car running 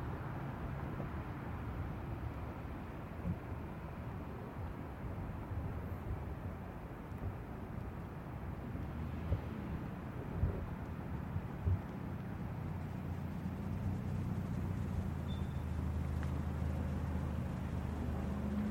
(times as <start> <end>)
9.9 18.7